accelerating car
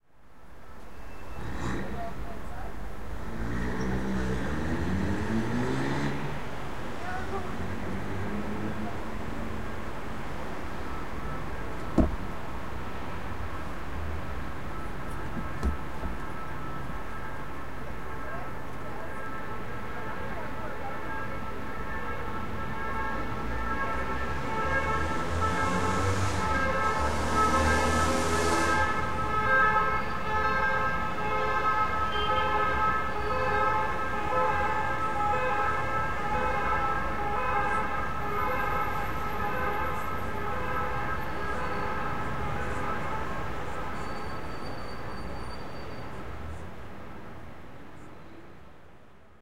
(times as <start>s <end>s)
1.3s 2.2s, 3.1s 6.5s